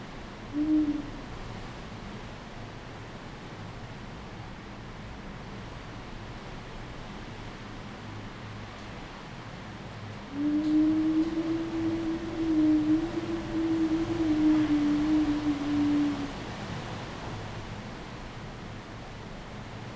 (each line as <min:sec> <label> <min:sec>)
0:00.0 wind 0:19.9